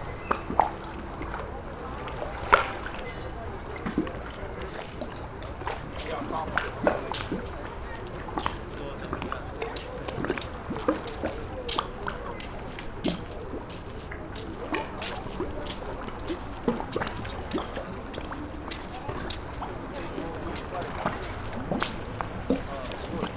sea 0:00.0 - 0:23.3
night walkers 0:05.4 - 0:23.3

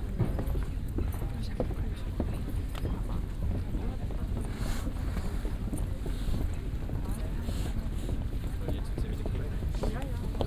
passengers leaving the boat 0:00.0 - 0:10.4

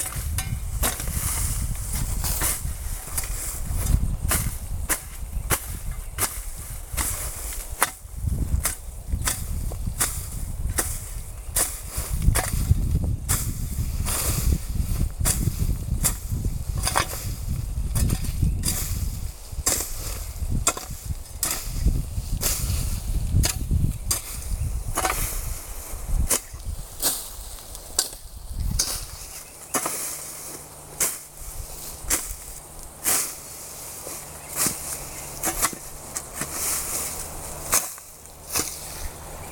hoe cleaning weeds 0:00.0 - 0:39.5

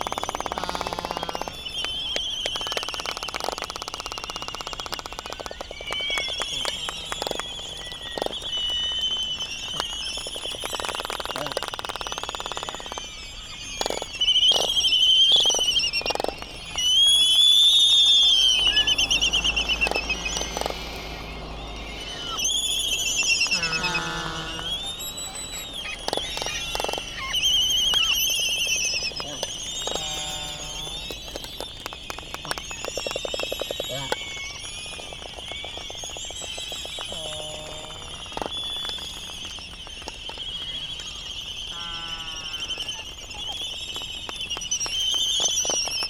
bill clapperings 0:00.0 - 0:13.0
laysan calls 0:00.0 - 0:46.0
noise from buggies 0:00.0 - 0:46.0

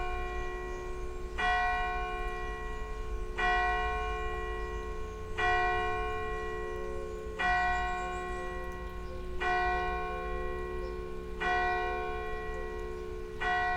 Bells ringing 0:00.0 - 0:13.7

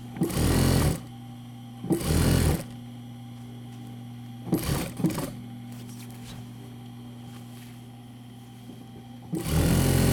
operating the old sewing machine 0:09.4 - 0:10.1

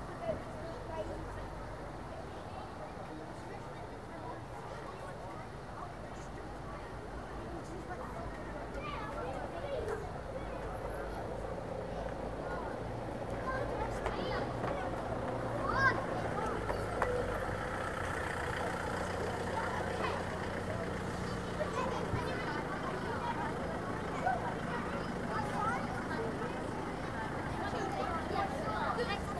school party passing through 0:06.5 - 0:29.3

